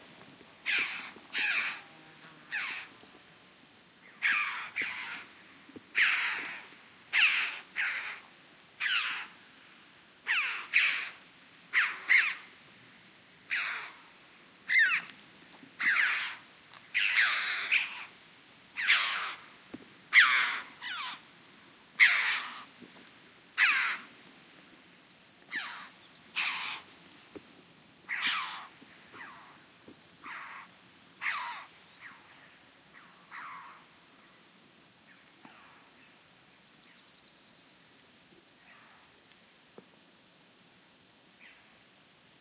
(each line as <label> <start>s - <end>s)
Callings from two Red-billed Choughs in flight 0.6s - 1.8s
Callings from two Red-billed Choughs in flight 2.5s - 2.9s
Callings from two Red-billed Choughs in flight 4.2s - 5.3s
Callings from two Red-billed Choughs in flight 6.0s - 8.2s
Callings from two Red-billed Choughs in flight 8.8s - 9.3s
Callings from two Red-billed Choughs in flight 14.7s - 15.1s
Callings from two Red-billed Choughs in flight 15.8s - 16.4s
Callings from two Red-billed Choughs in flight 17.0s - 18.1s
Callings from two Red-billed Choughs in flight 18.8s - 19.4s
Callings from two Red-billed Choughs in flight 22.0s - 22.7s
Callings from two Red-billed Choughs in flight 25.5s - 26.9s
Callings from two Red-billed Choughs in flight 28.1s - 29.6s